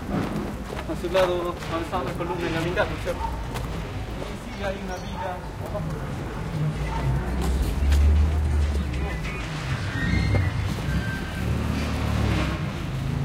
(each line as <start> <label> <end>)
0.0 people activity 13.2
5.6 cars auto fast gritty pull ups and back up 13.2
6.4 motorcycle pass 13.2
8.0 gate close 13.0